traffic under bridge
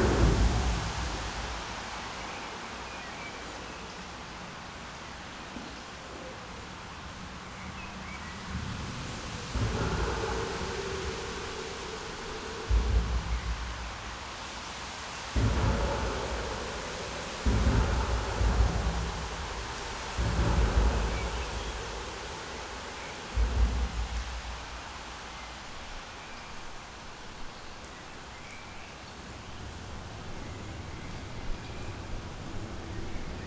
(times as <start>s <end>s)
0.0s 3.2s, 6.6s 25.6s